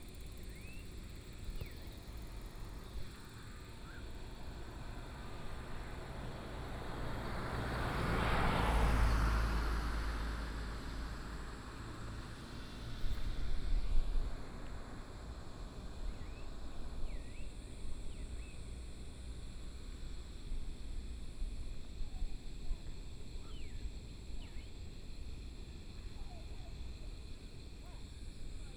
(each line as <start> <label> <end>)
3.4 Traffic Sound 15.9